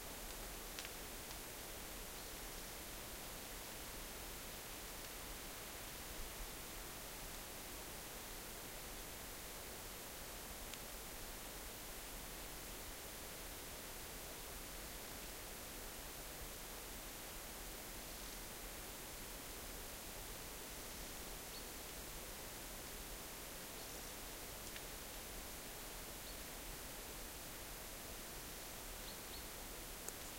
29.9s raindrops 30.3s

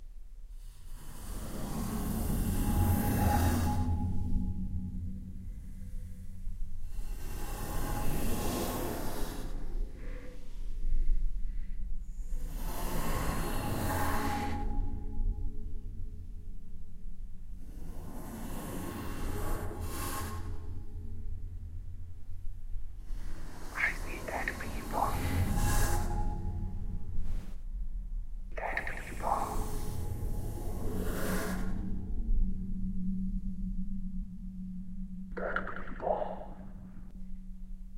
23.8s myself saying 25.5s
28.6s myself saying 29.8s
35.4s myself saying 36.6s

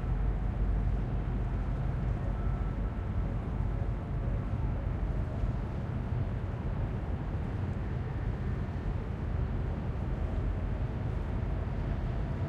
0.0s water 12.4s
0.0s wind noises of the nearby buildings 12.4s

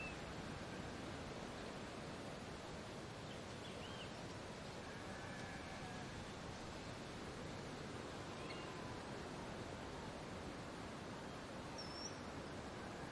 0.0s birds 0.3s
0.0s cicadas 13.1s
0.0s wind 13.1s
3.1s birds 7.0s
7.8s birds 9.0s
11.2s birds 13.1s

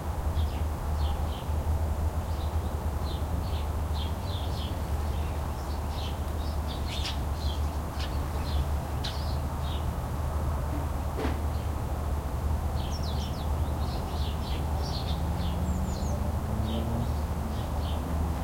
2.3s birds 9.9s
12.8s birds 18.4s

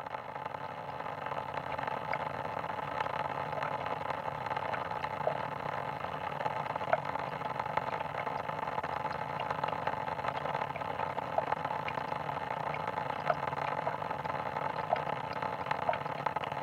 4.5s faucet 16.6s

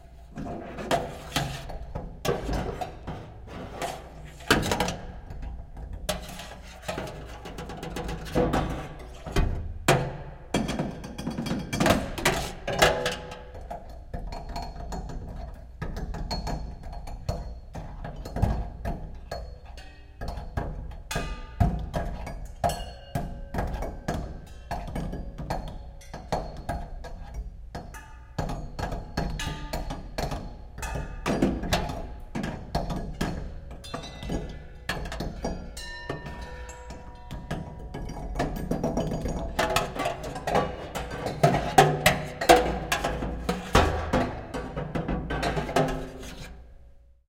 30.8s metal sculpture 46.7s

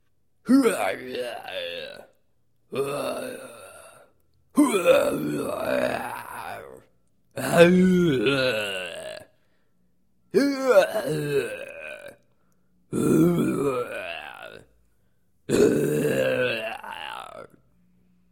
4.6s moan and roar 6.8s
7.4s moan and roar 9.3s
12.9s moan and roar 14.6s
15.5s moan and roar 17.6s

